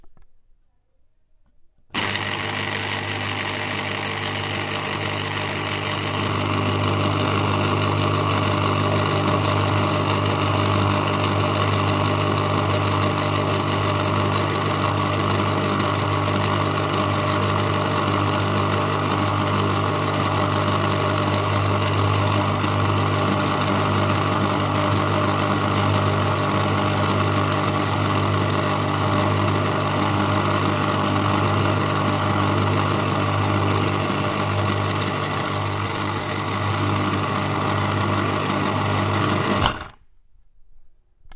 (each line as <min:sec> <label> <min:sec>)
0:01.5 House electric 0:41.3